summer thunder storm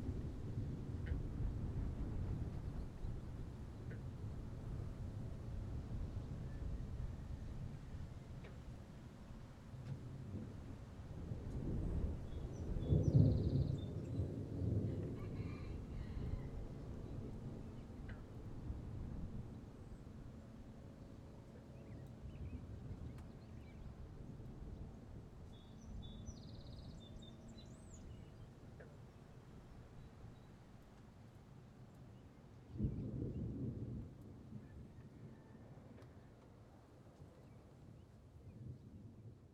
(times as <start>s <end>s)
10.2s 15.9s, 32.7s 35.5s